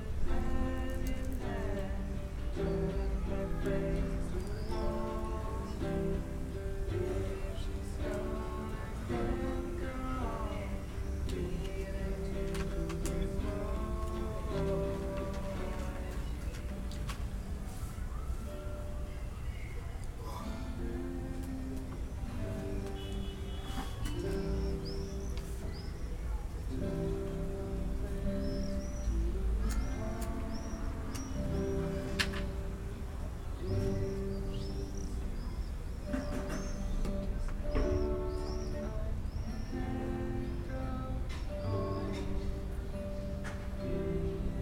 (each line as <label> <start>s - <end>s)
neigbour's practising guitar 0.0s - 44.6s
people on the balconies 0.0s - 44.6s